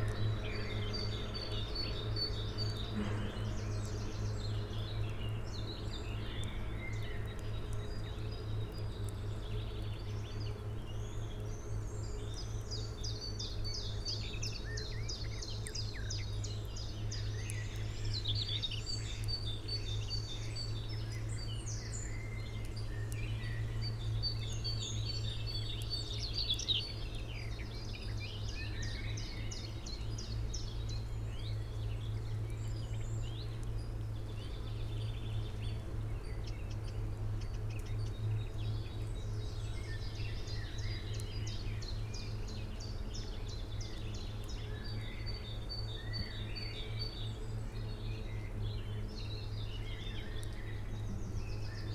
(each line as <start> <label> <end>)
0.0 Birds 51.9